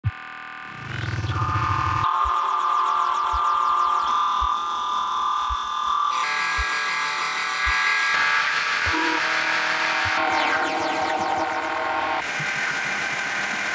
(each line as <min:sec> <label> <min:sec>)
0:00.0 Buzz 0:13.7
0:00.6 Drone 0:13.7